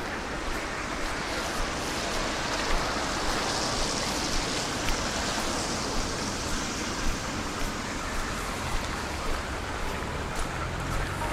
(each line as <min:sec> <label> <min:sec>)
0:00.0 cars & trams rolling by 0:11.3
0:00.0 footsteps 0:11.3